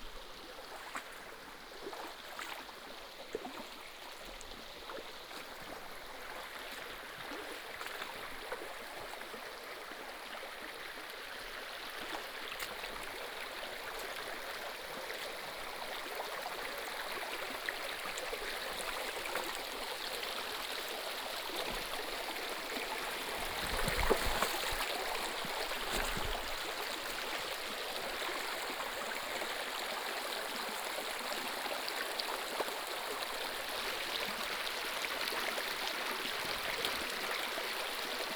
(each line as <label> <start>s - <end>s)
Stream sound 0.0s - 38.3s
Walking along the river 23.0s - 28.8s